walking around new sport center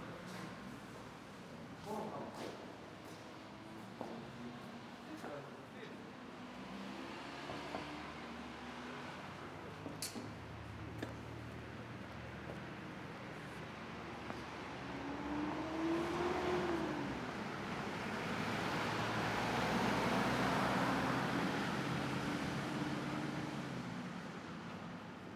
0:00.0 0:18.6

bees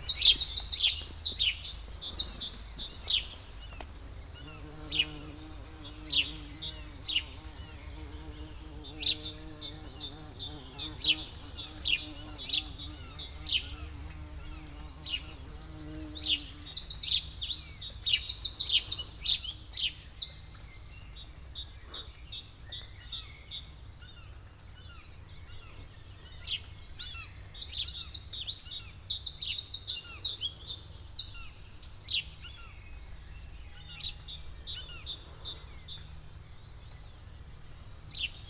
0:00.1 0:19.9

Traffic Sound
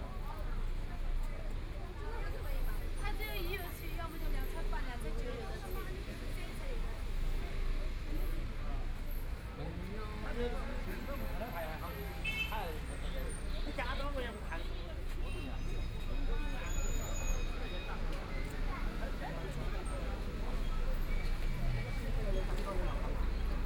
0:05.6 0:23.6

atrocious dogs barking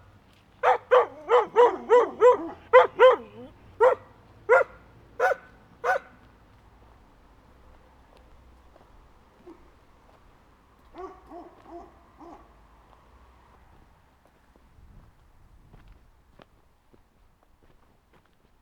0:00.6 0:06.2, 0:10.9 0:12.6

